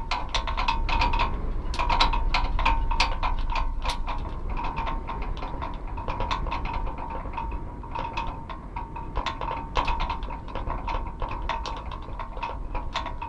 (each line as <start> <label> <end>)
0.0 loose wires tumbling polyrhythmically inside 13.2
0.0 pole is vibrating more 13.2